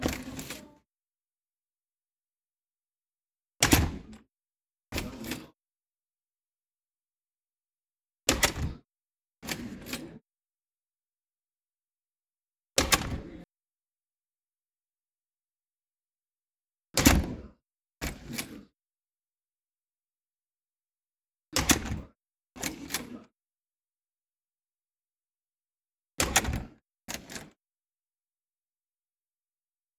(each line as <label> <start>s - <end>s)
door opening and closing 0.0s - 0.8s